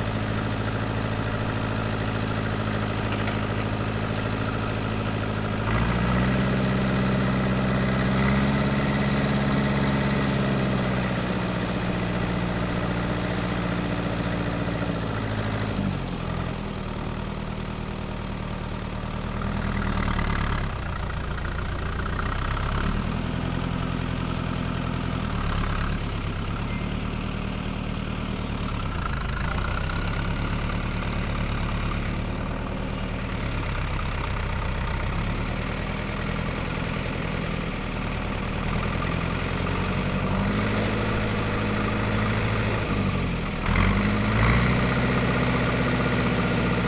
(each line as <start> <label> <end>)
0.0 tractor 46.8
29.8 gathering some cut down branches into a trailer 32.7
39.4 gathering some cut down branches into a trailer 44.0